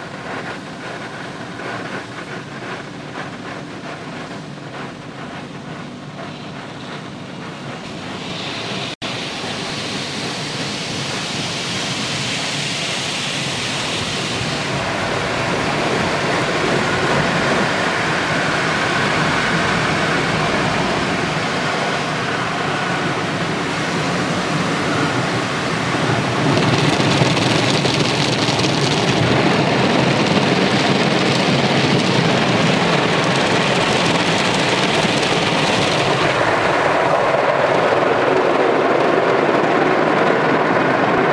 carwash 0.0 - 39.4

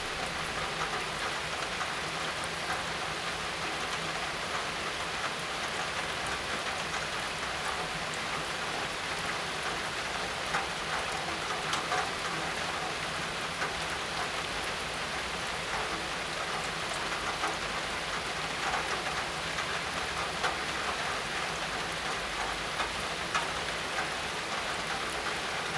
Rain 0.0 - 25.7

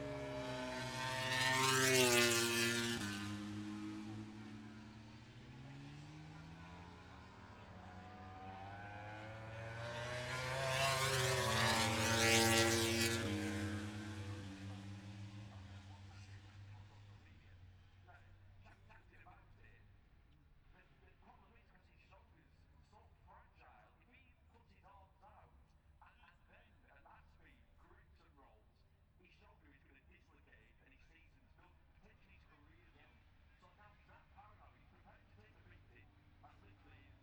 moto grand prix free practice three 0.0 - 19.7

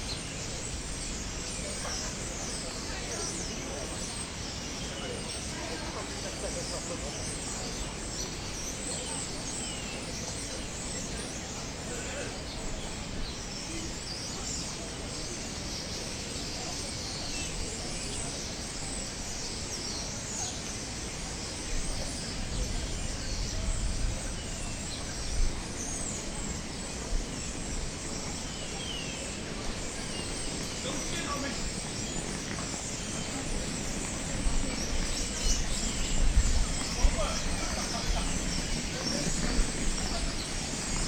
migratory birds assembling in the sycamore trees 0.0 - 41.0
funny pedestrians comments 30.1 - 41.0

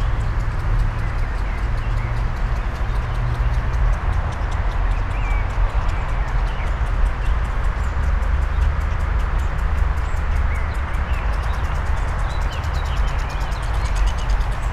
traffic noise 0.0 - 14.7
birds 0.0 - 14.7

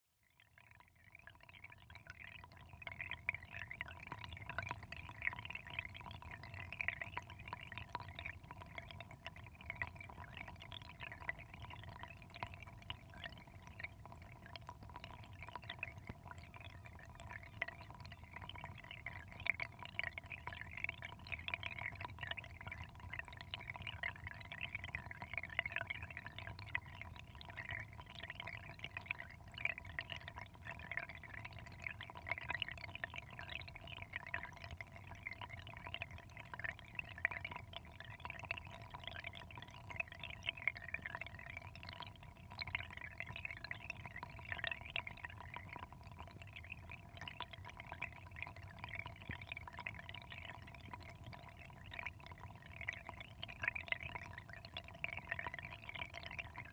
little stream next to a drain 0.1 - 56.7

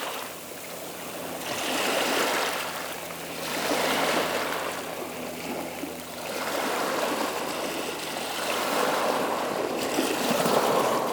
The sea 0.0 - 11.1

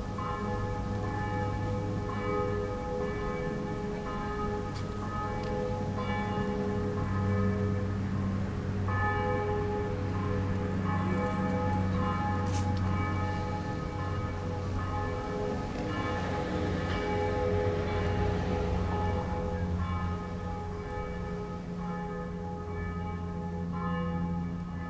church bells 0.0 - 24.8
traffic is passing by 0.7 - 22.4

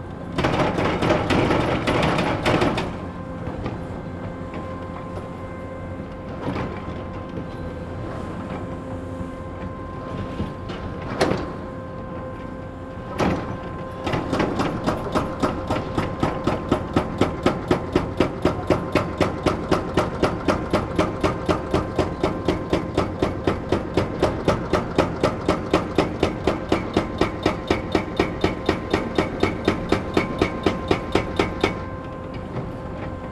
distant drone of a fog cannon 0.0 - 33.3
noise of different excavators 0.0 - 33.3
excavator with mounted jackhammer demolishes building elements 0.4 - 3.0

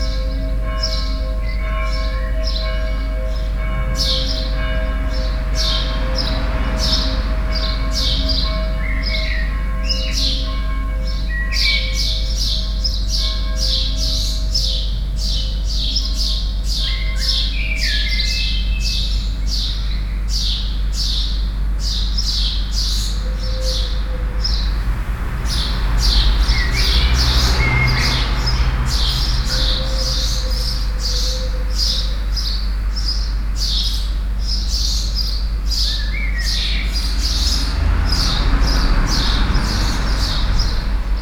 a few cars 0.0 - 18.2
Bells 0.0 - 18.7
Birds 0.0 - 41.2
a few cars 18.8 - 41.2
Bells 23.2 - 32.5

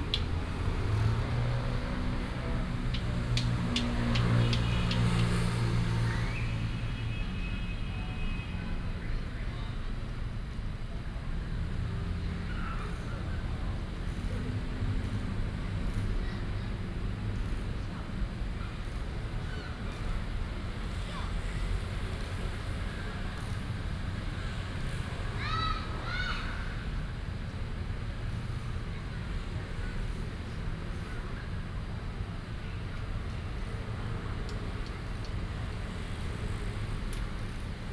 traffic sound 0.0 - 37.9

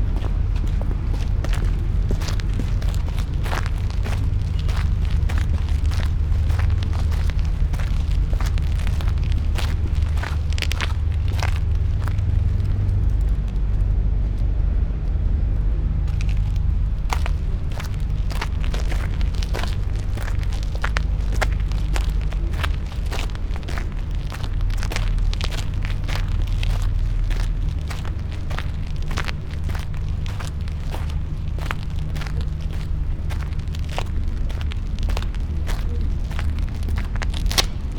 walking 0.0 - 14.4
walking 16.0 - 37.9

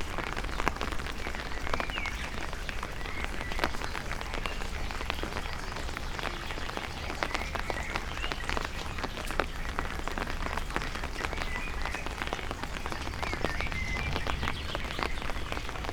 raindrops 0.0 - 15.9

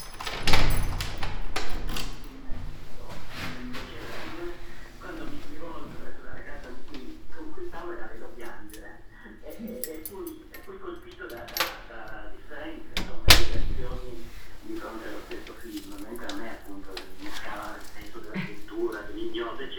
Shopping in the open air square market 13.6 - 19.7

